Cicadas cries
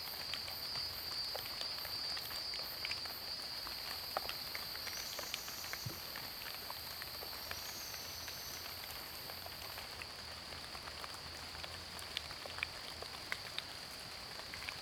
0.5s 9.3s

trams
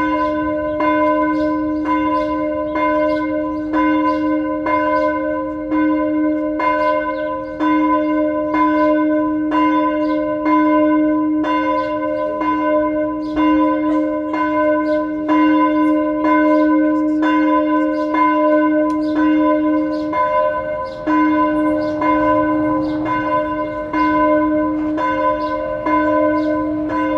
13.1s 27.1s

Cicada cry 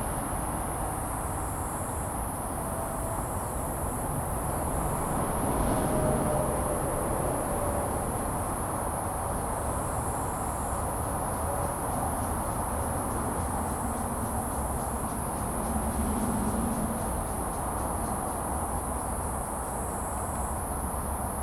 6.3s 21.4s

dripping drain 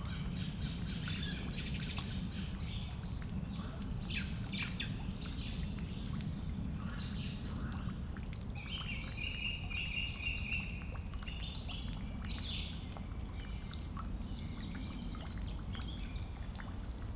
4.4s 17.1s

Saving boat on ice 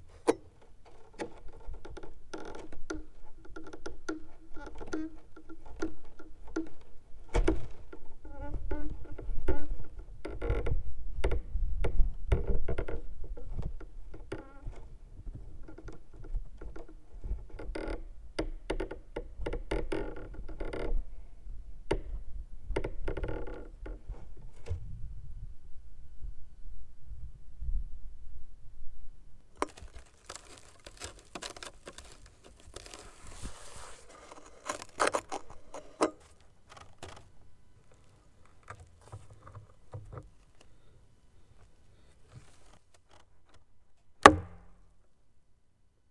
29.6s 43.4s

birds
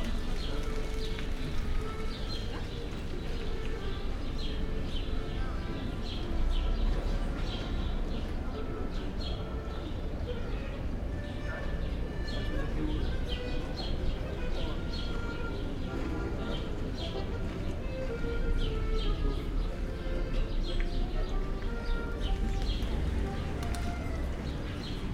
12.2s 25.1s

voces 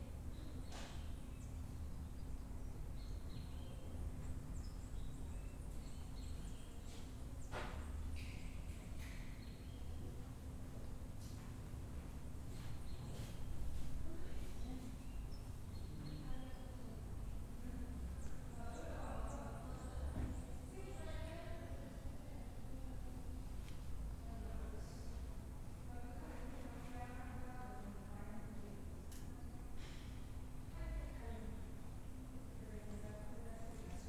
16.0s 23.4s

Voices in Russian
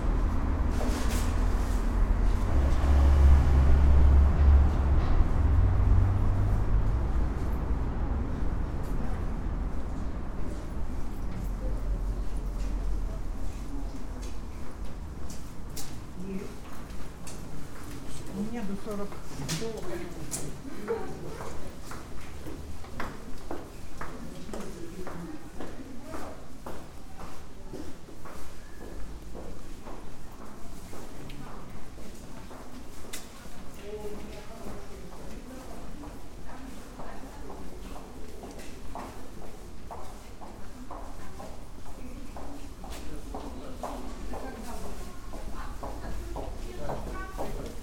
16.1s 21.9s

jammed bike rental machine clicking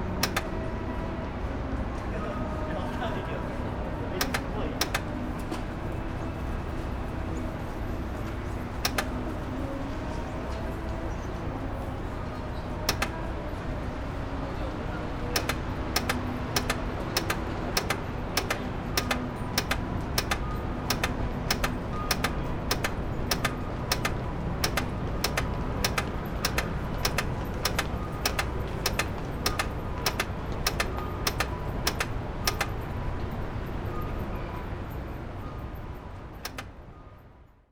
0.0s 0.8s, 4.0s 5.6s, 7.2s 9.6s, 12.2s 34.0s, 36.3s 36.8s

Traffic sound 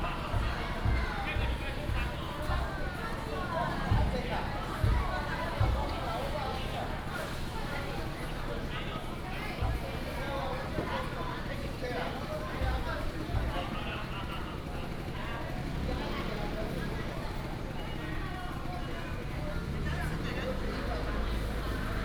15.5s 22.0s

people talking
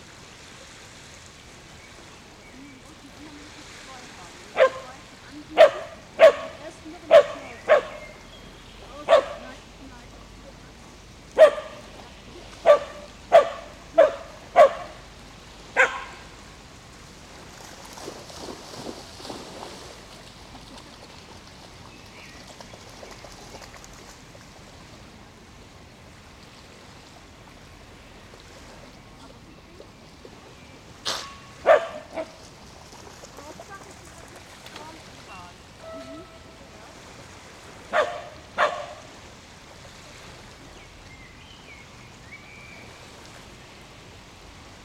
2.4s 8.1s, 8.8s 12.8s, 29.1s 30.1s, 33.4s 37.0s

